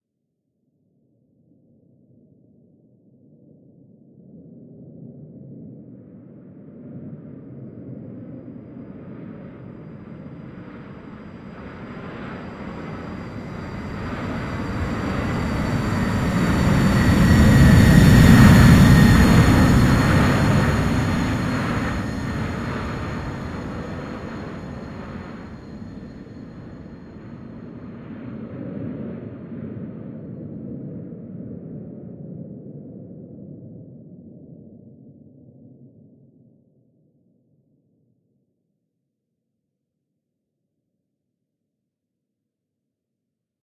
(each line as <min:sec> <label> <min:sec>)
0:07.5 airliner flying over 0:30.8